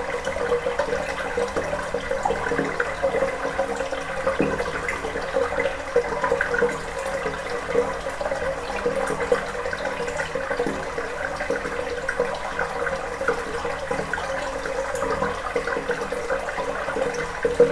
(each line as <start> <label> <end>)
0.0 water is flowing inside 17.7